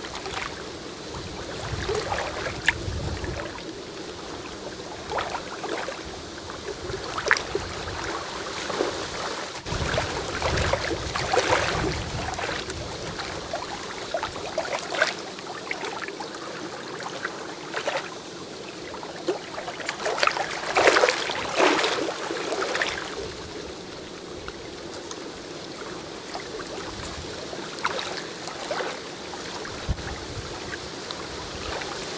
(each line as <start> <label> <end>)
0.0 dull roar of the wind 32.1